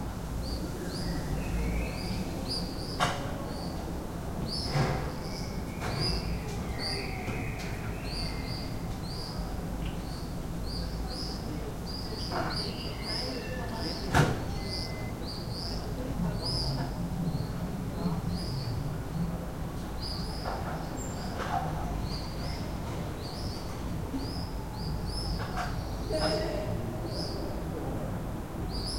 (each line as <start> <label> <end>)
0.0 People are coming home 28.8